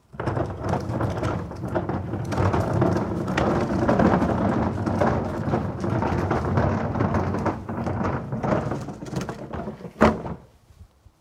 Recycle Bin Roll Stop Plastic Wheel Cement 0.0 - 10.5

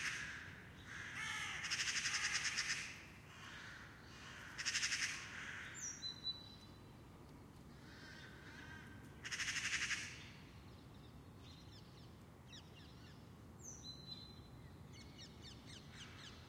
early city birds 0.0 - 16.4

